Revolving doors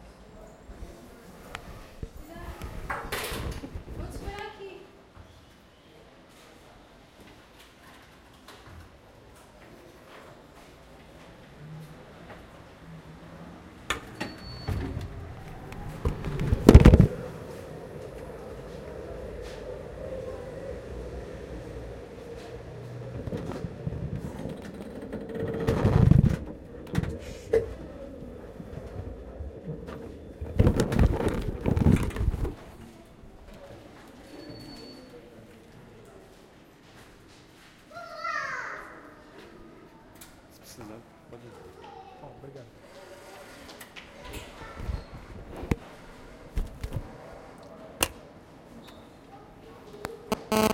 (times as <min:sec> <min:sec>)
0:10.2 0:35.1